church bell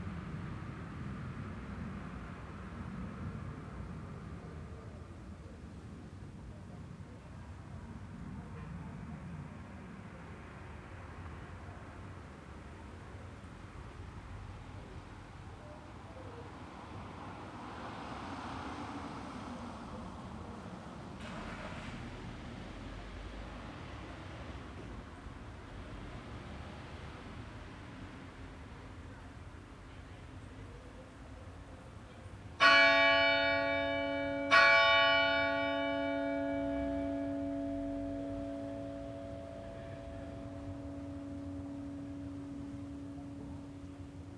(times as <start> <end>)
32.6 44.3